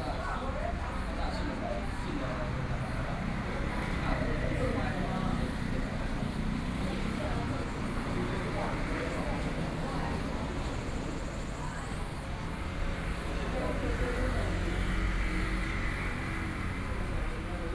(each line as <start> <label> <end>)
0.0 Group of elderly people in the temple Chat 17.7
0.0 Traffic Noise 17.7